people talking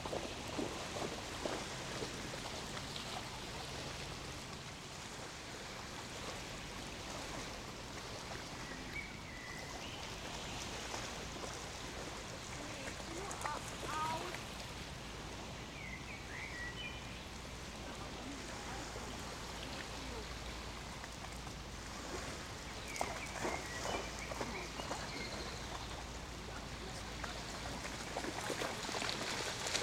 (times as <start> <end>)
12.6 14.4, 17.8 20.3, 24.4 25.6, 26.4 28.0